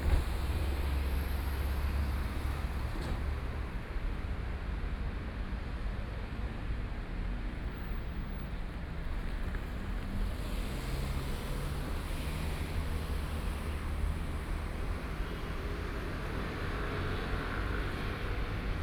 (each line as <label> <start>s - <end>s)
Traveling by train 0.0s - 18.8s